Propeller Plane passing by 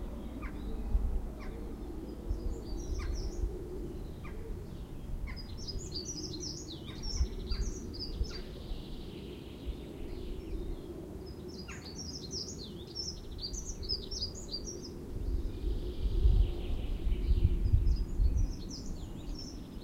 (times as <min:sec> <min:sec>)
0:00.0 0:06.6